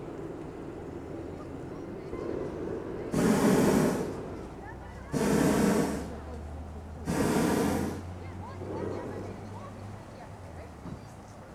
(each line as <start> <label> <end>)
1.4 hot air balloons 9.9